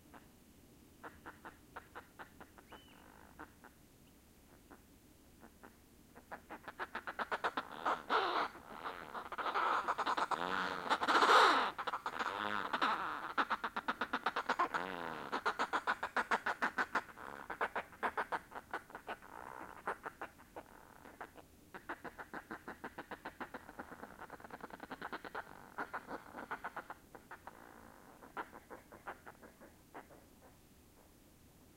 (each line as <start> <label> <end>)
4.5 fulmars 31.7